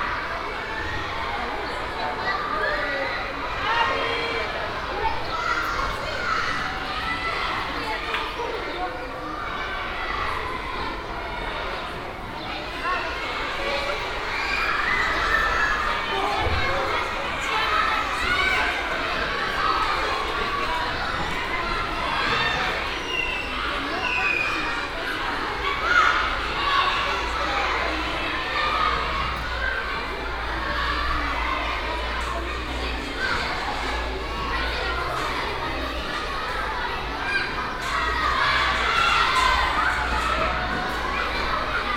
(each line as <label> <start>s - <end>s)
kids enjoy their free time on the school's playground 0.0s - 41.9s